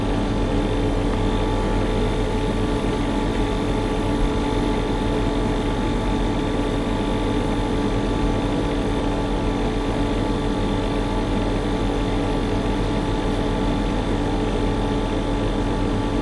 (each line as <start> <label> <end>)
0.0 old air conditioning unit 16.2